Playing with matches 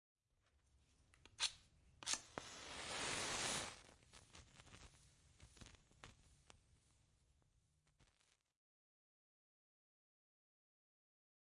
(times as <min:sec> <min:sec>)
0:01.1 0:06.6